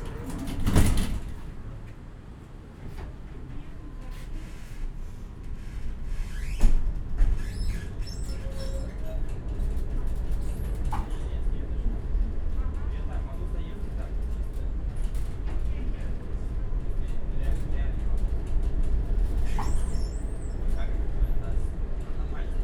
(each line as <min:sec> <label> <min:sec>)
0:00.0 tram 0:22.6